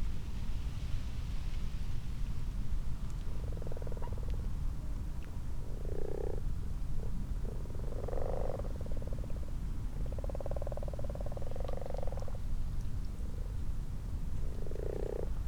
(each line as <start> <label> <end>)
3.3 common frogs 4.8
5.4 common frogs 12.5
5.7 common toads 6.4
7.0 common toads 9.4
10.0 common toads 12.4
13.2 common frogs 15.4
14.4 common toads 15.4